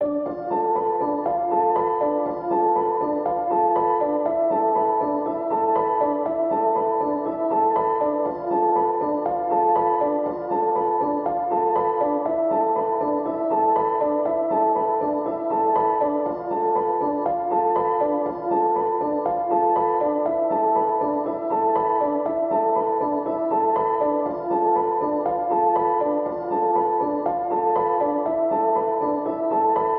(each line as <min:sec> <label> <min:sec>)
0:00.0 piano 0:29.9